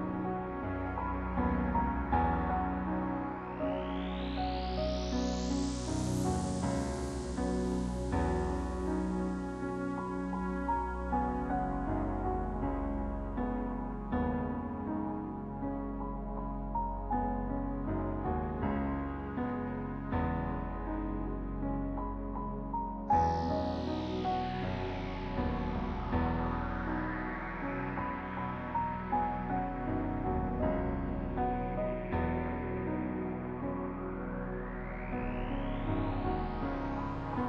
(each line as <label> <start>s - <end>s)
piano 0.0s - 37.4s
synth 0.0s - 37.4s